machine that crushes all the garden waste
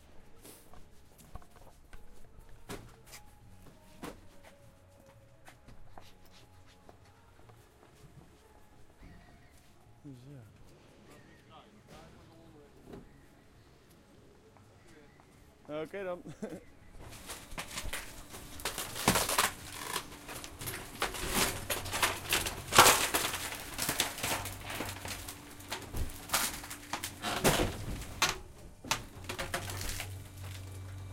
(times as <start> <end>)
17.0 31.1